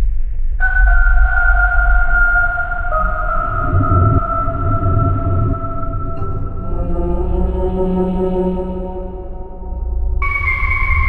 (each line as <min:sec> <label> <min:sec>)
0:00.6 eerie melody 0:11.0
0:02.7 wicked down-tuned sounds 0:08.4